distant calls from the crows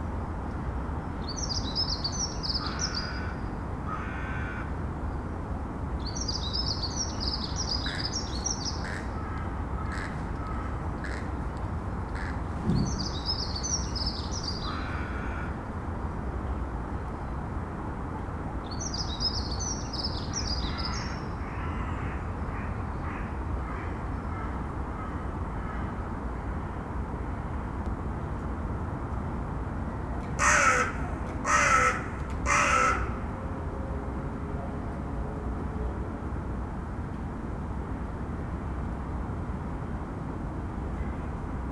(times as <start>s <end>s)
1.4s 4.8s, 7.0s 11.4s, 12.1s 15.6s, 19.6s 26.0s, 30.4s 33.2s